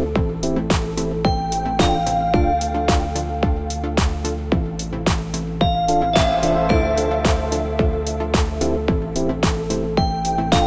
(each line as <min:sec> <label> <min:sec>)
0:00.2 kick 0:10.6
0:00.7 snare 0:01.2
0:01.8 snare 0:02.3
0:02.9 snare 0:03.4
0:04.0 snare 0:04.5
0:05.1 snare 0:10.6